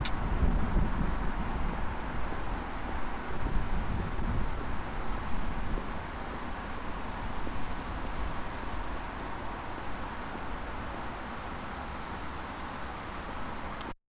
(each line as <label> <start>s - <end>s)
rain 0.0s - 14.0s